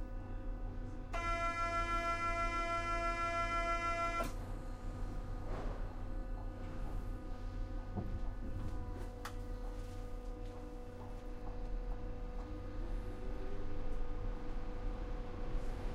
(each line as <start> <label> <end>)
0.0 trains 15.9
1.2 alarm 4.4